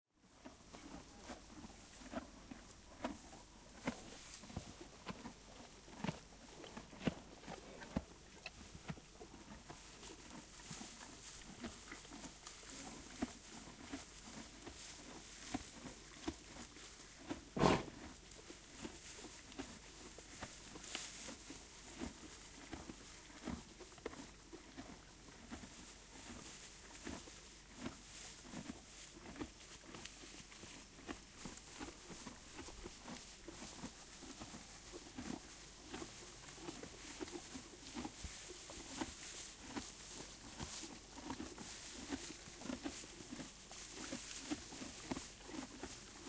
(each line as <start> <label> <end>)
0.2 Donkeys eating 46.2